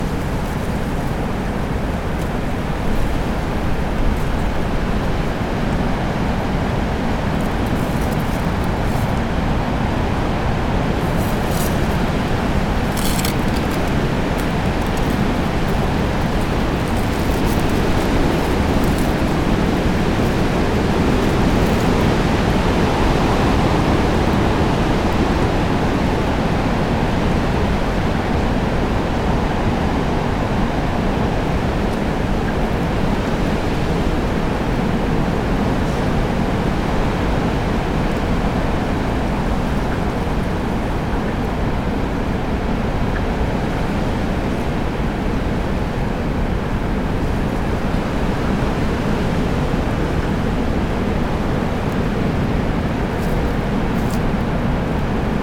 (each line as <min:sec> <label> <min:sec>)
0:00.0 wind in the leafless trees 0:55.4
0:10.8 puppy scrabbling in the leaves 0:25.1